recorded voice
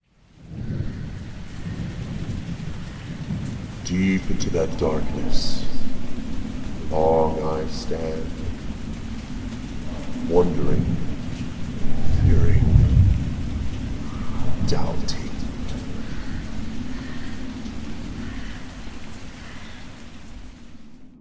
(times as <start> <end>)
3.8 5.9, 6.8 8.5, 10.2 11.1, 11.9 12.8, 14.4 16.0